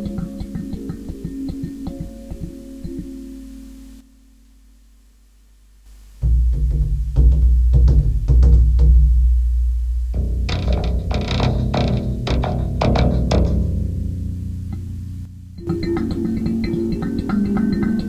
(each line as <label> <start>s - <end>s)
kalimba 0.0s - 3.7s
baryton drum 6.2s - 18.0s
own design of string instrument 6.2s - 18.0s
kalimba 10.2s - 18.0s